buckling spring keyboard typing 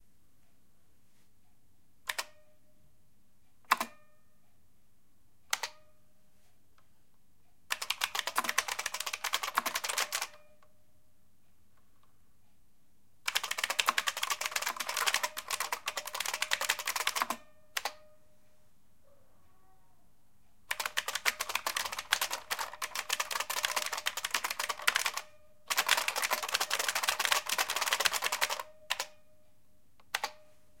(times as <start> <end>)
7.7 10.4, 13.3 18.0, 20.7 29.1, 30.0 30.4